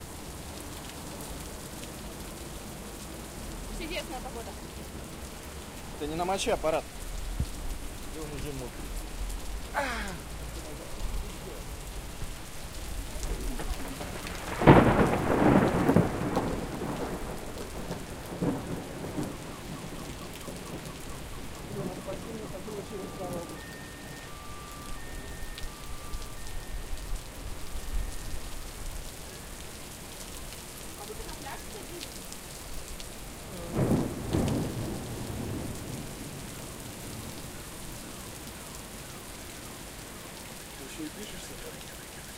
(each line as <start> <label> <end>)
12.0 rolling thunder 24.2
33.5 rolling thunder 37.4